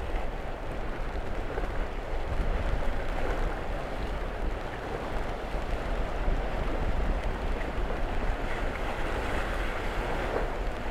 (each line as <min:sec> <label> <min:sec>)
0:00.0 wind lashes the surface 0:10.9